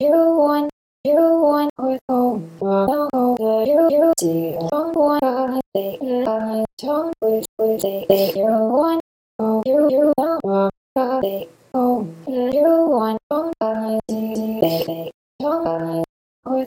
Vocal Chops, Female Dry 0:07.3 - 0:08.6
Vocal Chops, Female Dry 0:14.1 - 0:15.1

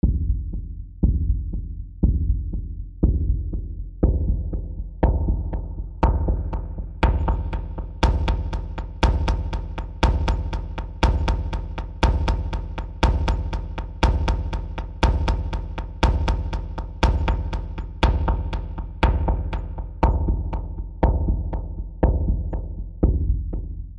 Electronic Moving Percussion Seq 0:06.0 - 0:20.7

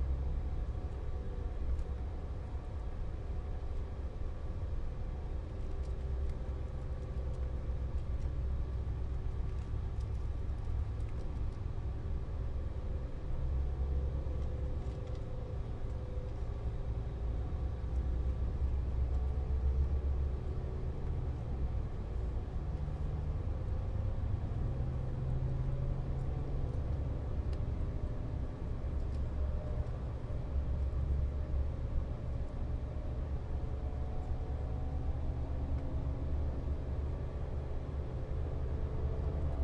light passenger presence 0:00.2 - 0:39.6

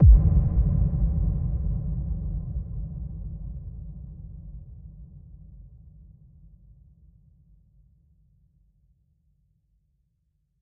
Default FLStudio kick with lowpass filtering 0:00.0 - 0:04.8

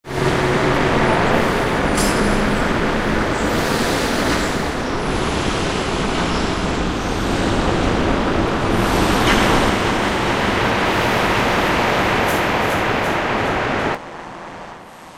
noisy drone sounds 0:00.0 - 0:15.1

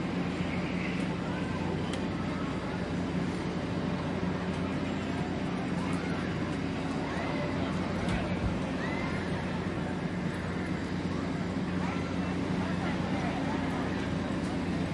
compressed air pistons of a carnival ride 0:00.0 - 0:14.9
crowd chatter 0:00.0 - 0:14.9
generator hum 0:00.0 - 0:14.9
whine of the ride's hydraulics 0:00.0 - 0:14.9

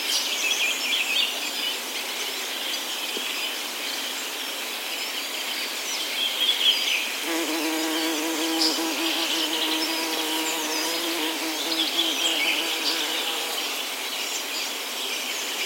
birdsong 0:06.9 - 0:15.6
bumblebee 0:07.2 - 0:14.0

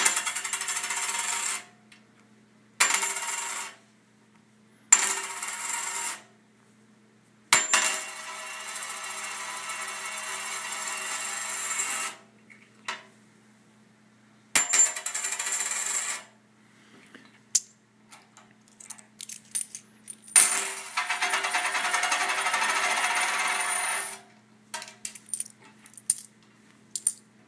d2's (coins) rolling on various surfaces 0:00.0 - 0:01.7
d2's (coins) rolling on various surfaces 0:02.8 - 0:03.8
d2's (coins) rolling on various surfaces 0:05.0 - 0:06.3
d2's (coins) rolling on various surfaces 0:07.6 - 0:12.2
d2's (coins) rolling on various surfaces 0:14.6 - 0:16.3
d2's (coins) rolling on various surfaces 0:20.3 - 0:24.2

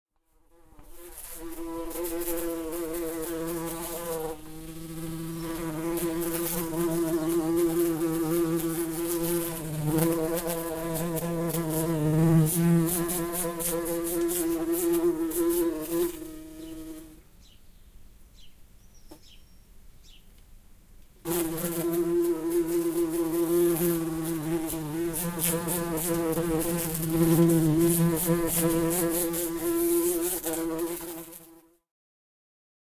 bumblebee 0:00.5 - 0:17.2
bumblebee 0:21.3 - 0:31.8

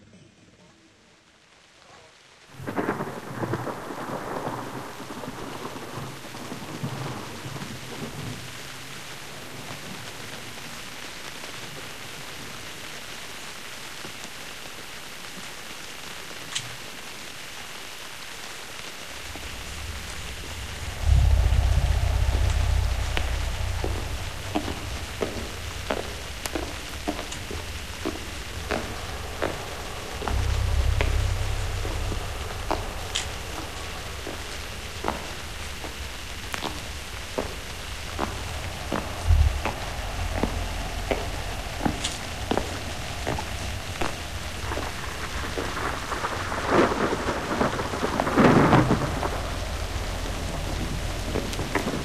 drone 0:18.8 - 0:52.0
synth 0:19.0 - 0:52.0

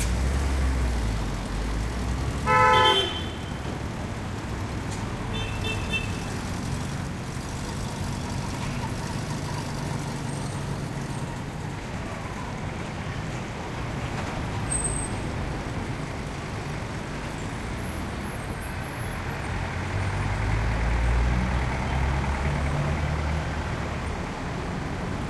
traffic heavy throaty 0:00.0 - 0:12.5

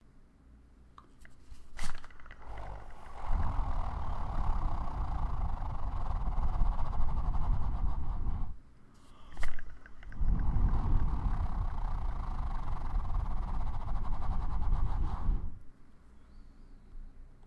spun a zoetrope toy 0:01.2 - 0:08.6
spun a zoetrope toy 0:09.3 - 0:15.6

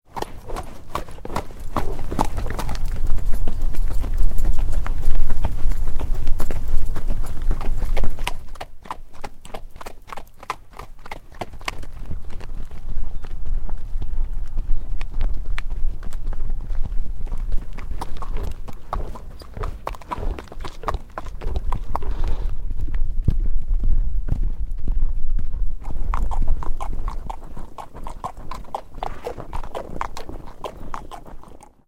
Horse Galloping 0:00.1 - 0:31.8

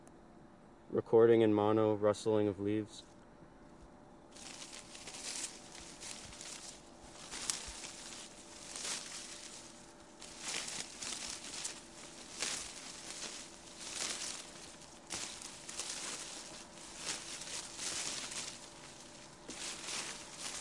russling leaves 0:04.3 - 0:20.6

